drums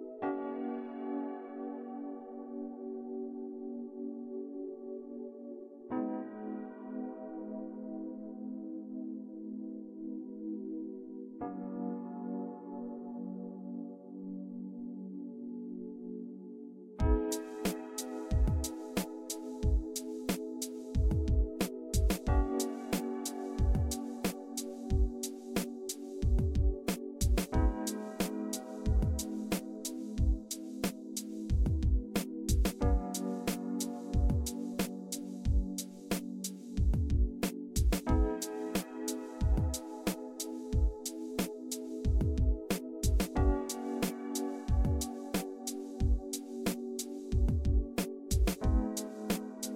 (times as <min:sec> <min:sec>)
0:17.0 0:49.7